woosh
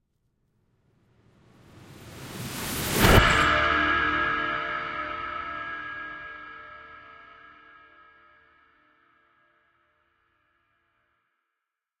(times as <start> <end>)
1.5 3.7